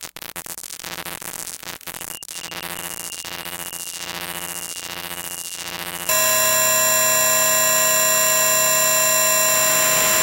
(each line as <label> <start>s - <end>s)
harsh high-pitched tonal drone 2.4s - 10.2s